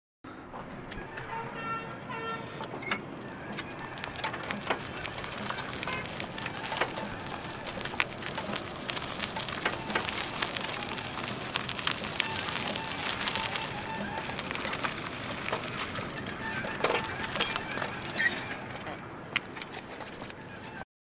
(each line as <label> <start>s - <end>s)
Auto Rickshaw - Wheels on Gravel 0.3s - 20.8s